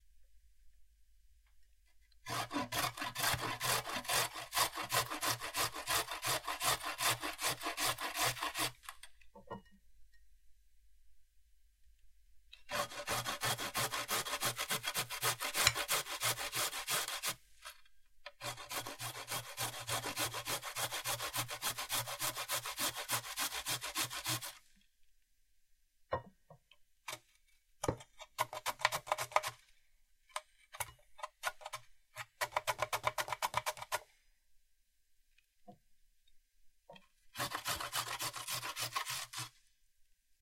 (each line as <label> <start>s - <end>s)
Grating a carrot on the three different sides of a grater 2.2s - 9.0s
Grating a carrot on the three different sides of a grater 12.6s - 24.7s
Grating a carrot on the three different sides of a grater 28.2s - 29.6s
Grating a carrot on the three different sides of a grater 30.8s - 34.1s
Grating a carrot on the three different sides of a grater 37.4s - 39.6s